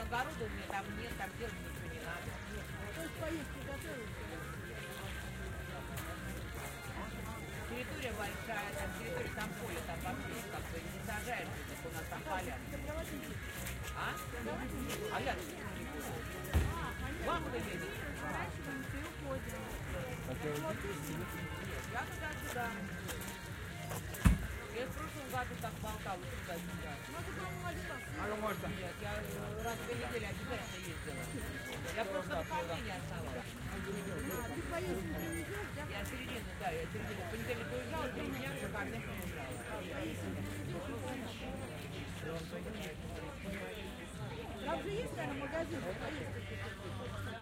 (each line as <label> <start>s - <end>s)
conversation 0.0s - 47.2s